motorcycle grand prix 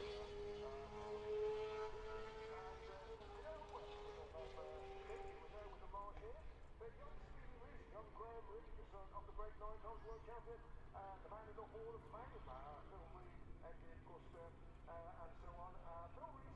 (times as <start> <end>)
0.0 6.5